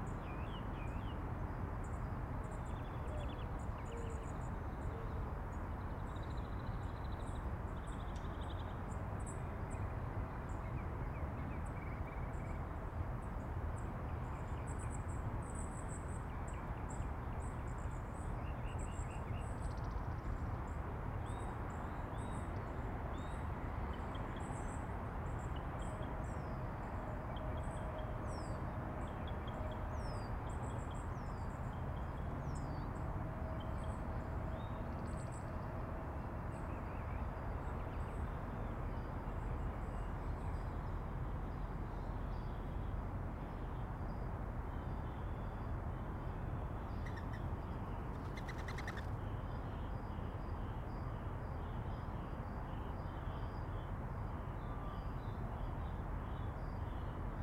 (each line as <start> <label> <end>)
48.4 hummingbird 49.0